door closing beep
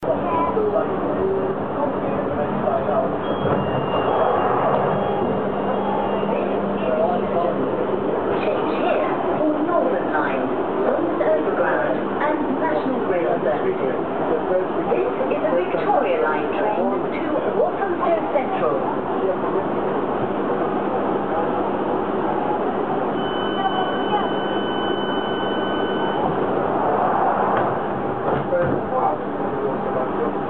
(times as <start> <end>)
3.2 6.4